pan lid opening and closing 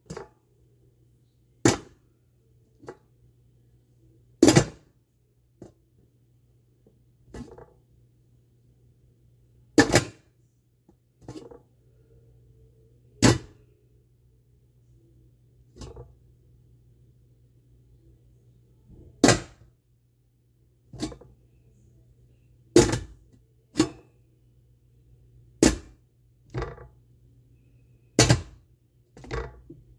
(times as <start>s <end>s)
4.4s 4.8s, 7.4s 7.7s, 9.8s 10.2s, 13.2s 13.5s, 15.8s 16.1s, 19.2s 19.6s, 21.0s 21.3s, 22.8s 23.2s, 23.8s 24.0s, 25.6s 25.9s, 26.6s 26.9s, 28.2s 28.6s